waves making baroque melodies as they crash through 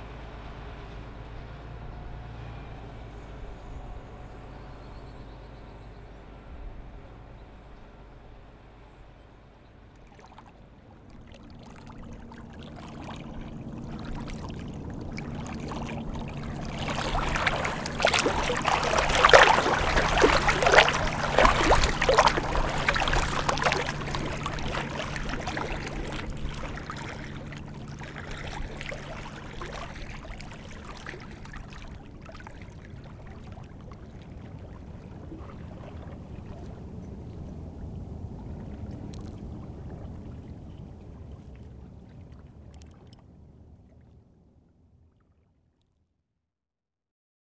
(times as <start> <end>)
12.3 31.6